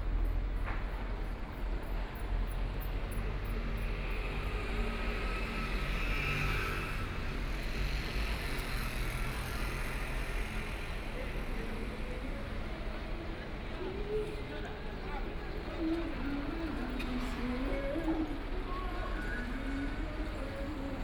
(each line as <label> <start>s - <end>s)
walking in the Street 0.0s - 21.0s